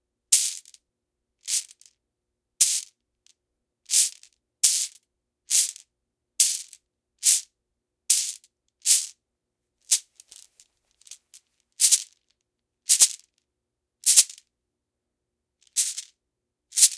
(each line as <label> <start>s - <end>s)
cloth bag full of glass marbles 9.9s - 12.2s
cloth bag full of glass marbles 12.9s - 13.3s
cloth bag full of glass marbles 15.7s - 16.1s
cloth bag full of glass marbles 16.8s - 16.9s